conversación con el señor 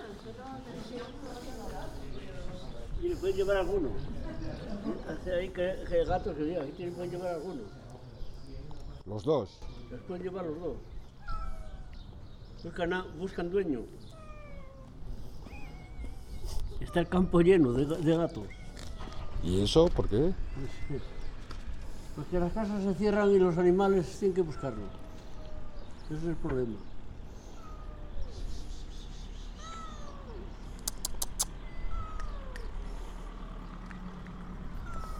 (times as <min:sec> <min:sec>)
0:22.1 0:25.1